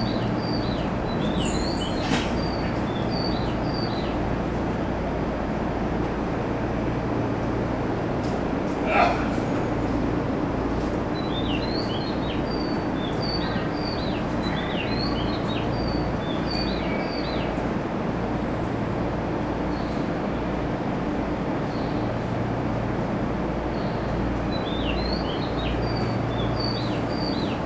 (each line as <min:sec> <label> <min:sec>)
0:00.0 train departing 0:16.5
0:00.0 train idling 0:19.6